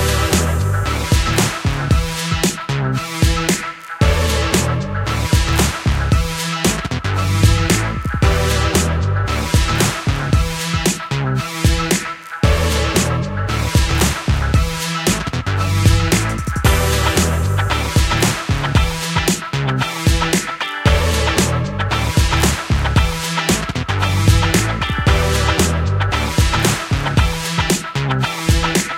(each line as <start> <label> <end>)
0.0 drum 4.7
0.0 bass 28.9
5.4 drum 8.9
9.6 drum 11.1
11.7 drum 13.1
12.4 synth 19.0
13.8 drum 19.5
20.1 drum 21.6
22.2 drum 28.9